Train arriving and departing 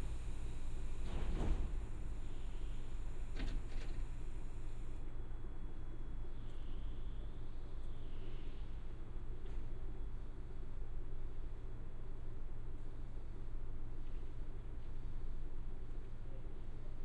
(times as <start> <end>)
0.0 5.0